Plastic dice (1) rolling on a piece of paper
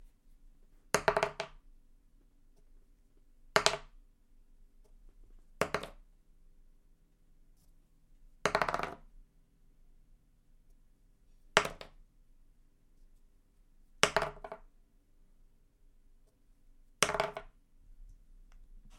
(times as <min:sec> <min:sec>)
0:00.9 0:01.6, 0:03.5 0:04.0, 0:05.6 0:06.0, 0:08.4 0:09.1, 0:11.5 0:12.0, 0:14.0 0:14.7, 0:17.0 0:17.6